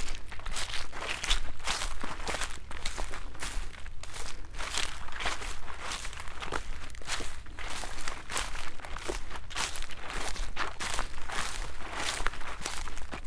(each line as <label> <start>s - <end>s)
walk through stiff and soft grasses 0.0s - 13.2s